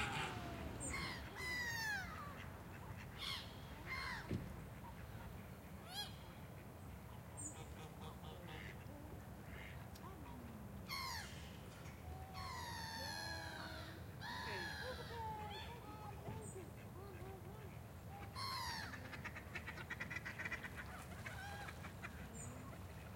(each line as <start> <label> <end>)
0.0 children 2.8
0.0 walla 5.5
0.0 ducks 11.8
0.0 birds 23.1
7.2 walla 23.1
12.4 ducks 23.1